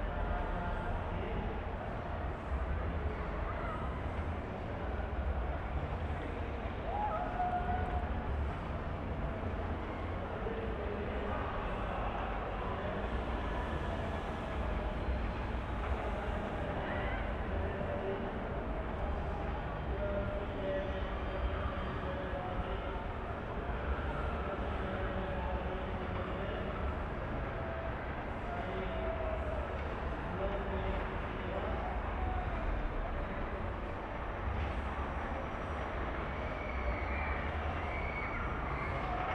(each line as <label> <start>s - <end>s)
christmas market fun fair 0.0s - 39.3s